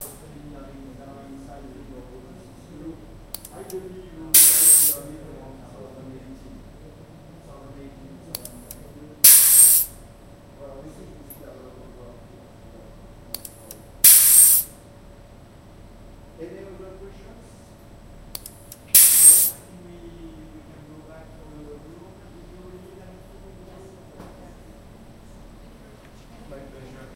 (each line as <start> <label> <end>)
3.2 valve in a scientific lab 5.2
8.4 valve in a scientific lab 10.1
13.2 valve in a scientific lab 14.8
18.2 valve in a scientific lab 19.8